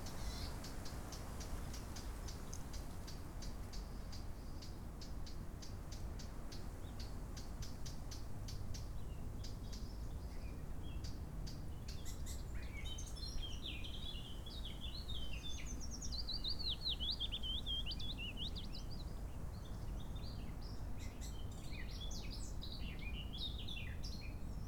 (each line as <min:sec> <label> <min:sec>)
0:11.7 Willow Warbler 0:24.6